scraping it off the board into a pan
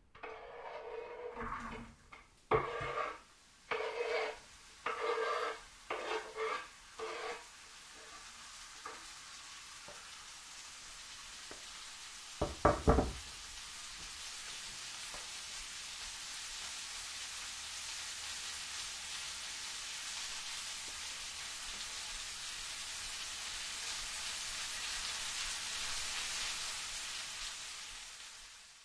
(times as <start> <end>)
0.2 9.1